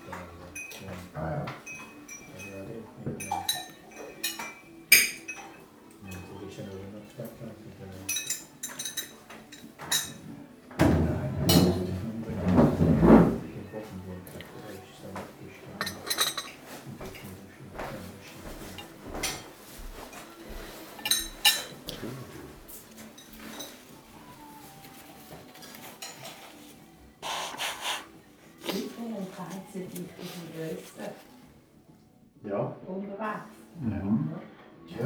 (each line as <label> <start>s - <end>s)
hotel guests talking while eating their breakfast 0.0s - 35.0s